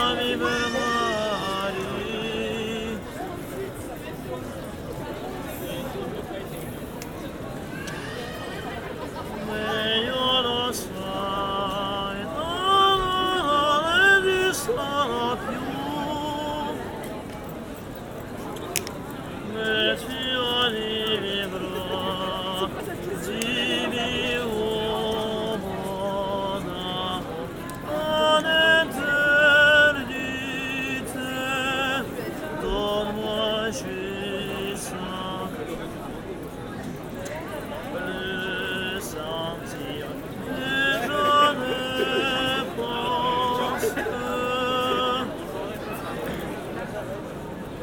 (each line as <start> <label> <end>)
0.0 blind singer 4.2
0.0 many tourists and people 47.8
7.7 blind singer 17.5
18.7 blind singer 36.4
37.2 blind singer 46.9